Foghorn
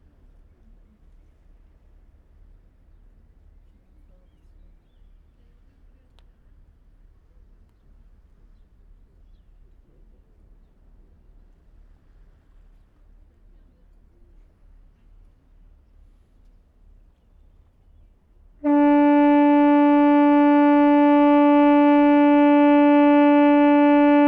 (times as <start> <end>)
18.6 24.2